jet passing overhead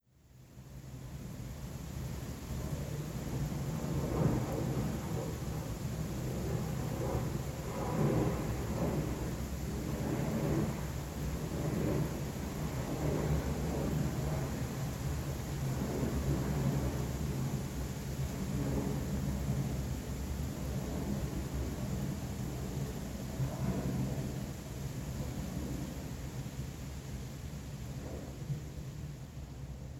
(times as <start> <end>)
3.6 19.6